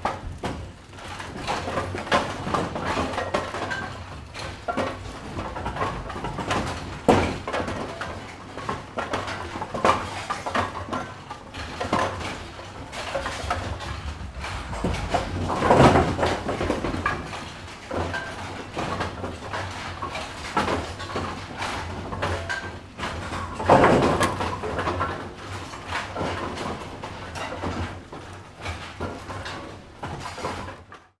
Bowling machine room 0.0 - 31.2

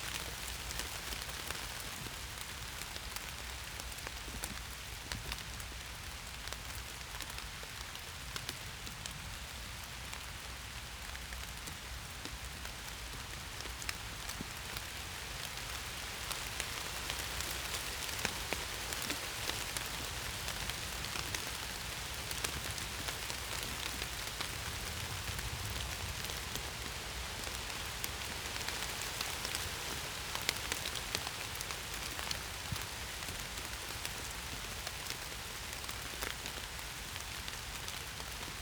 rain and wind on oak and birch leaves 0.0 - 38.6

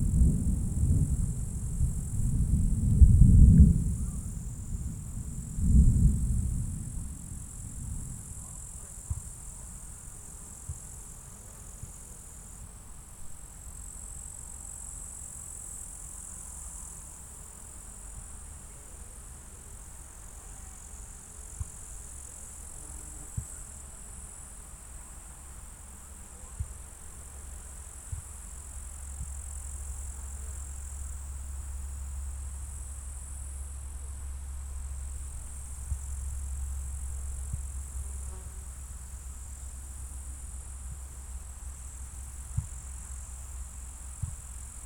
thunder storm approaching 0.0 - 8.4

